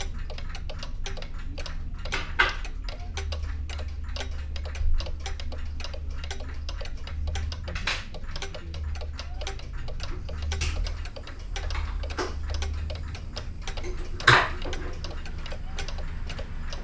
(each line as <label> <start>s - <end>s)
old clocks 0.0s - 16.8s